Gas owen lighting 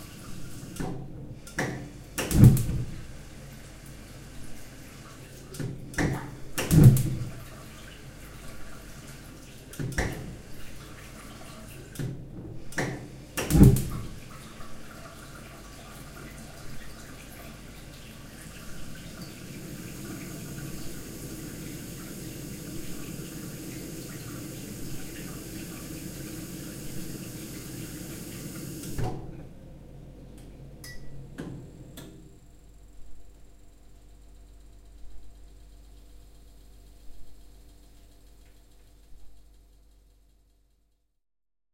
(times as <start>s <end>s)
18.4s 29.7s